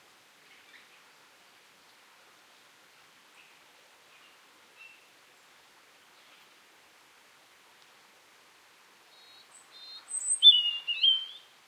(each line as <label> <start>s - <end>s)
small drops of rain are hitting the ground 0.0s - 10.6s
birdsong 9.2s - 11.5s